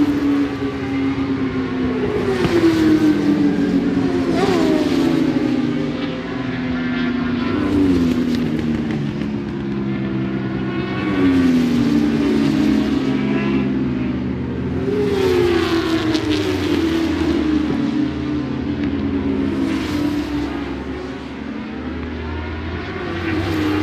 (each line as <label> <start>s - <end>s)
Superbikes 0.0s - 23.8s